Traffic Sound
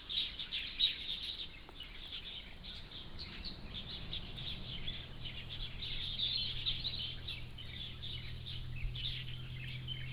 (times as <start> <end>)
3.2 10.1